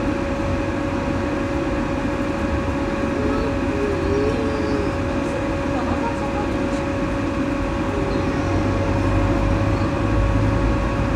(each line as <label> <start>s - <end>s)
constant fan 0.0s - 11.1s